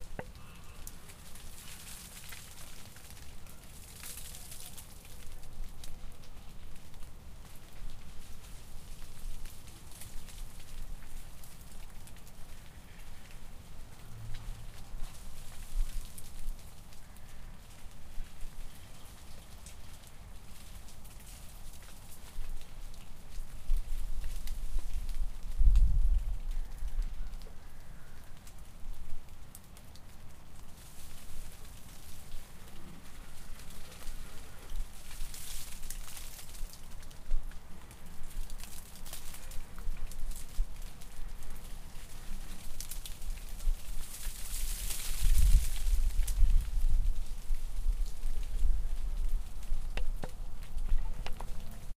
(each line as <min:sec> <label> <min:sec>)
0:00.0 Snow falling from the trees 0:51.9